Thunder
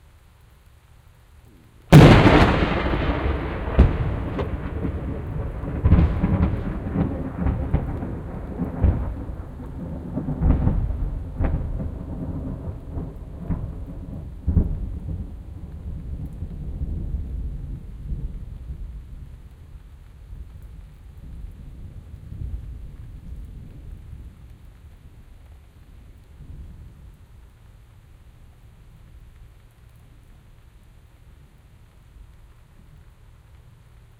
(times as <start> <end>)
1.9 19.5